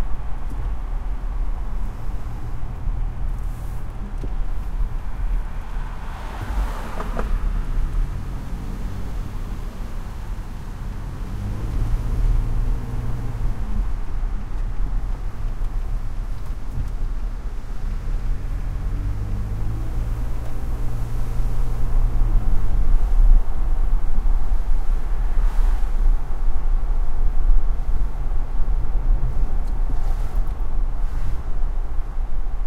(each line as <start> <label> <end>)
0.0 Pickup truck driving with windows down on wet street 32.6
0.0 traffic 32.6